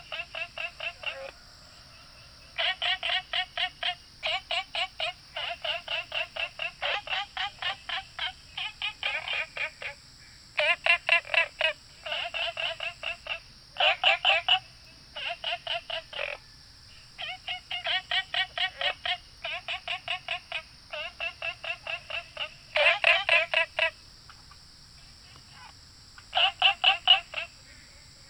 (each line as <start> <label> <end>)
0.0 Frogs chirping 28.2
0.0 Insects called 28.2